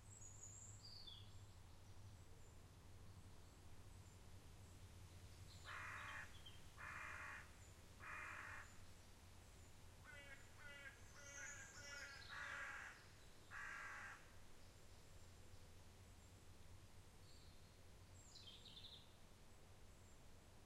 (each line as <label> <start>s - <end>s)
Various birds 10.3s - 13.0s